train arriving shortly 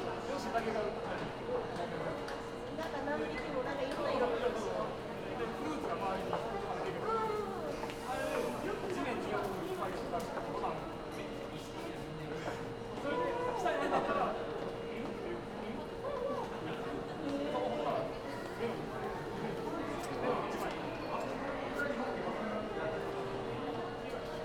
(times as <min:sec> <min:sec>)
0:07.5 0:09.6